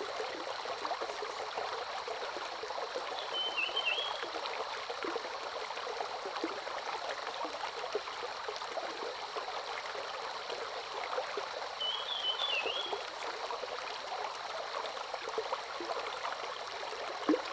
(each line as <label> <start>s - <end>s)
Brook 0.0s - 17.5s